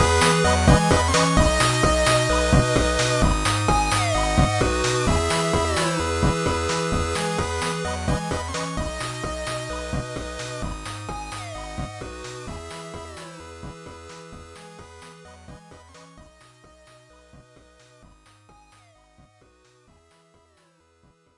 synth 0:00.0 - 0:16.4

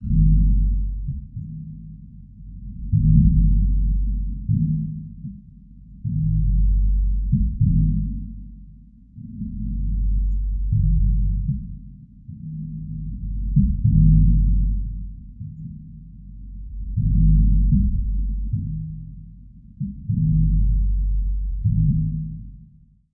low pitched percussive sounds 0:00.0 - 0:22.5

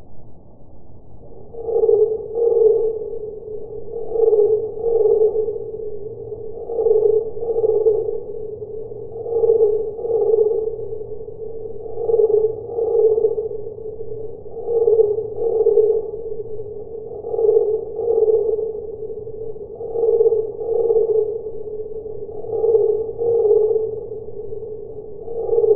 cricket sound 0:00.0 - 0:25.7

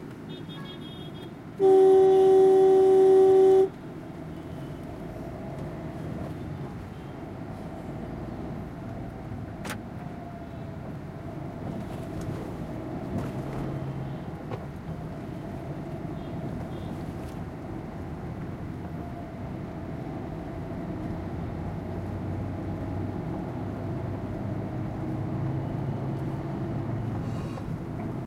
Car interior traffic 0:00.0 - 0:28.2

